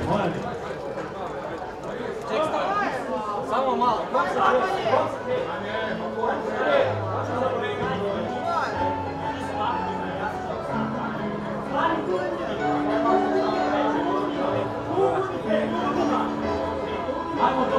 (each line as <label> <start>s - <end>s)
singing crowd 4.1s - 17.7s
musicians 5.0s - 17.7s